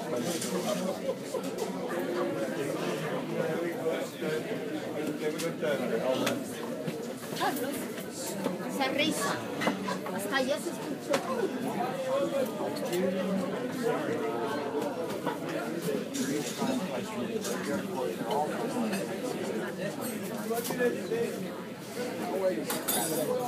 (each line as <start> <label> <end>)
0.0 people talking 23.4
22.6 clanging plates and glasses and forks and knives 23.4